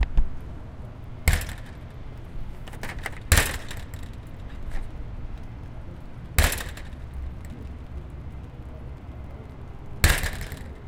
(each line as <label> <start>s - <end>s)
fence gate shut 1.2s - 1.9s
fence gate shut 2.7s - 4.9s
fence gate shut 6.4s - 7.6s
fence gate shut 10.0s - 10.8s